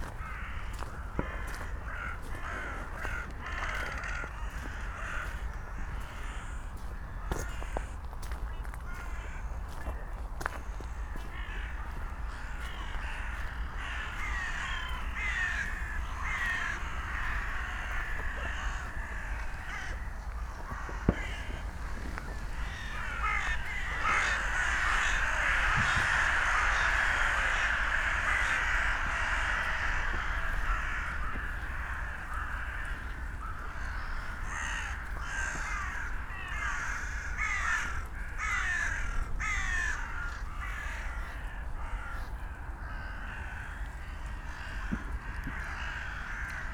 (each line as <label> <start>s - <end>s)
hundreds of dun crows 0.0s - 46.7s
hikers clapping 0.0s - 6.2s
a few rooks 0.0s - 46.7s
hikers clapping 14.1s - 33.9s
fireworks 20.6s - 24.1s